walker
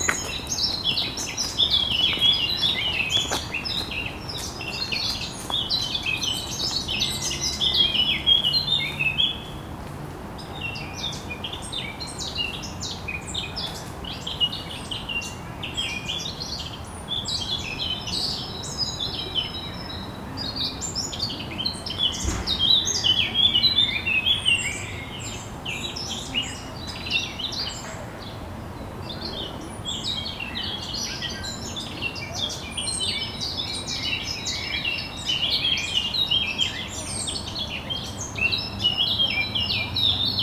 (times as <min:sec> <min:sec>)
0:00.0 0:07.2